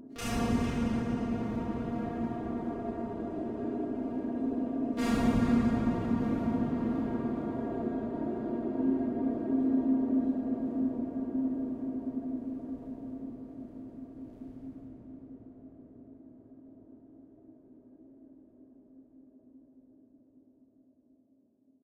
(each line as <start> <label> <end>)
0.2 drone 15.0